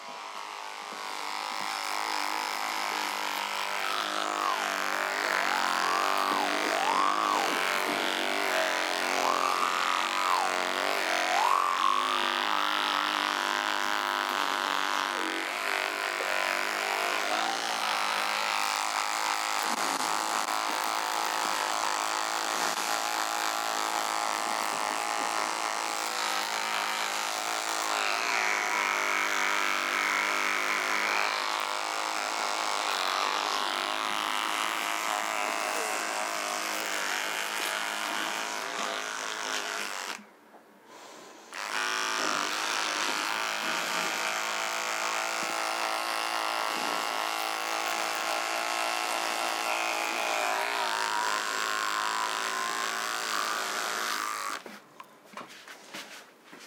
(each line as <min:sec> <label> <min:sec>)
0:00.0 electric toothbrush 0:40.3
0:40.9 electric toothbrush 0:54.8